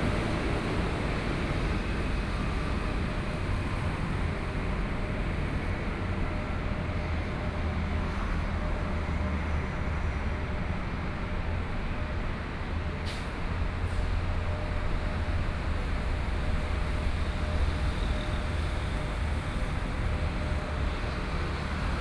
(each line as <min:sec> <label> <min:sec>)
0:00.0 Traffic Sound 0:22.0
0:02.3 walking on the Road 0:22.0